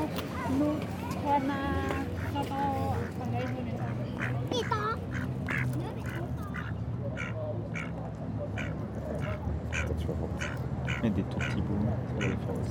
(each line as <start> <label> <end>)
3.0 Mallard duck eating bread crumbs 7.9